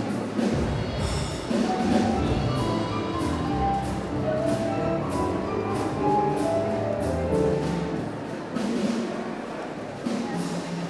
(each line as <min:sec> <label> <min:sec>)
0:00.0 jazz band 0:10.8